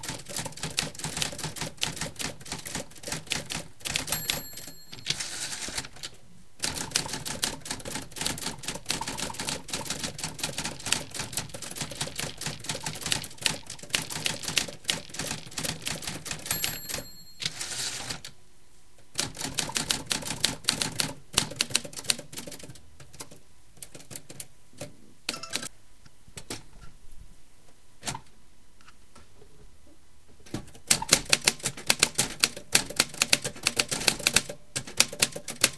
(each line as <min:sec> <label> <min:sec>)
0:00.0 manual typewriter 0:18.3
0:04.1 end return bell 0:05.2
0:16.5 end return bell 0:17.6
0:19.2 manual typewriter 0:25.7
0:30.7 manual typewriter 0:35.7